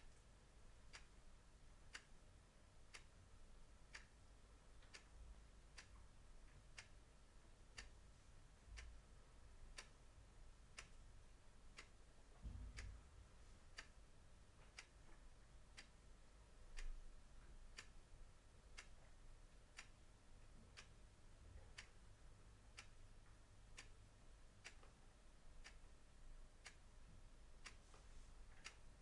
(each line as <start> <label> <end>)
0.0 Mechanical chess clock ticking 13.0
13.6 Mechanical chess clock ticking 21.1
21.7 Mechanical chess clock ticking 29.0